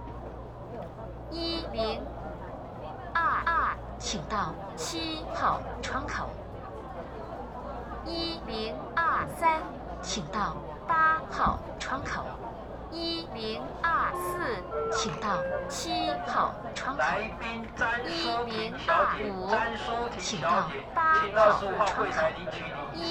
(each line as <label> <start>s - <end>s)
Counter broadcasting 13.0s - 19.8s